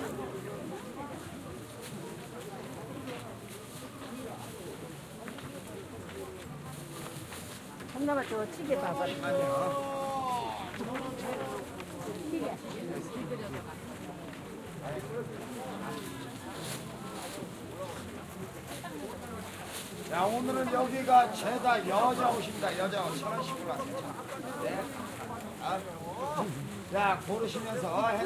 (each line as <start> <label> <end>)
0.0 people 28.2